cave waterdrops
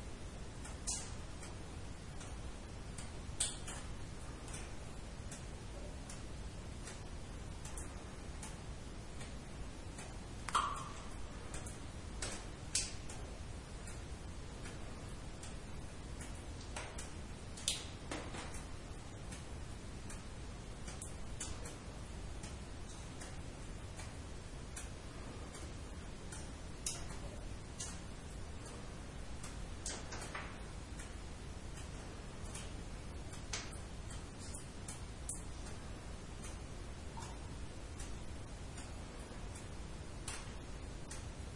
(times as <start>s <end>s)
10.0s 14.0s